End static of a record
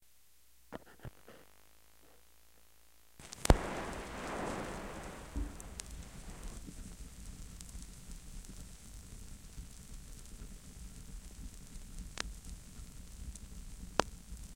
3.2 6.6

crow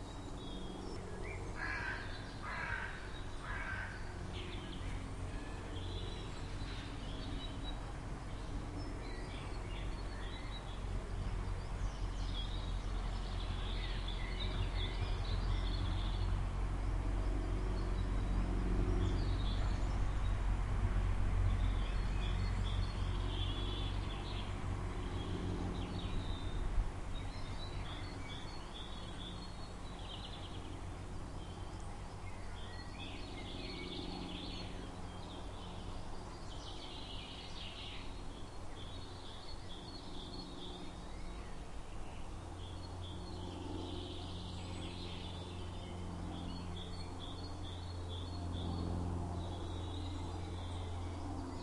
1.6 4.1

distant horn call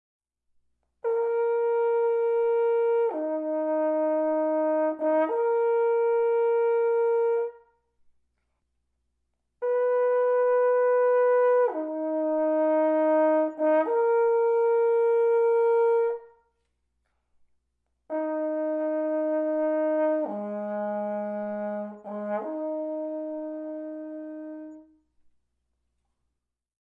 1.0 7.8, 9.6 16.6, 18.1 25.0

